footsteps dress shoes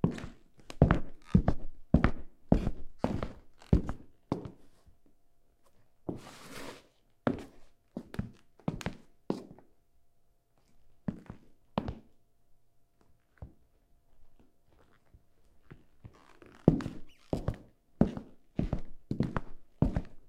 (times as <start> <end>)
0.0 4.8, 5.6 9.7, 13.0 20.2